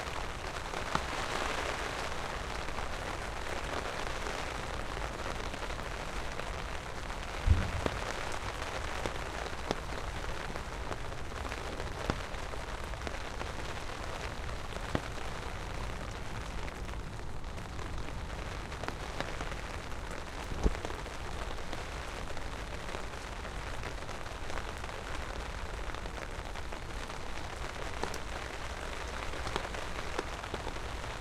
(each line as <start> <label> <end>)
0.0 Rain falling onto umbrella 31.2